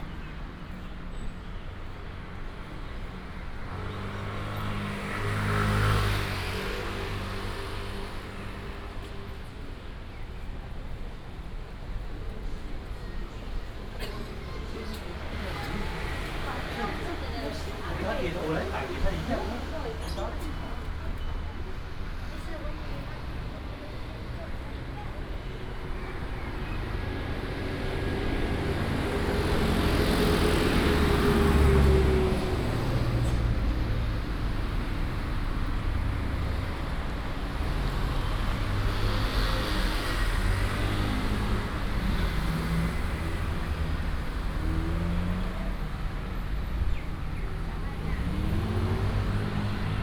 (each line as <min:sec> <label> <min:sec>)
0:00.0 Traffic sound 0:50.0
0:00.0 Walking on the road 0:50.0